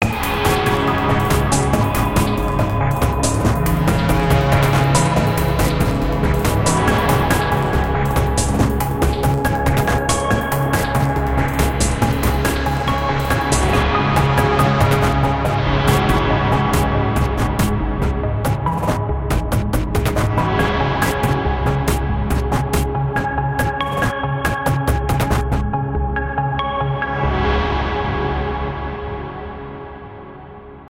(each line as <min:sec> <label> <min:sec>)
0:00.0 Synthesizer ambience 0:30.4